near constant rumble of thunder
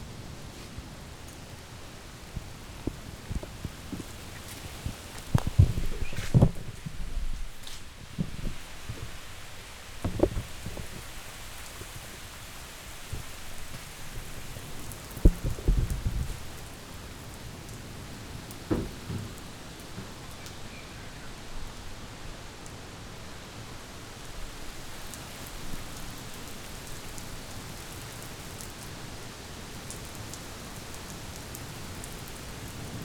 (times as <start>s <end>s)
0.0s 12.0s, 12.9s 22.4s